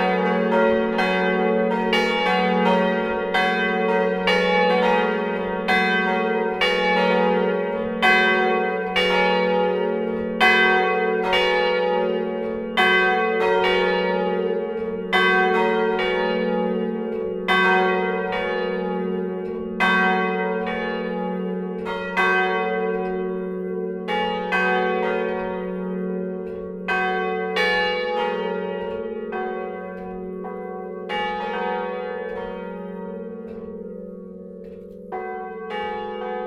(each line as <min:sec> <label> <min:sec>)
0:00.0 bells, ringed manually with ropes 0:36.4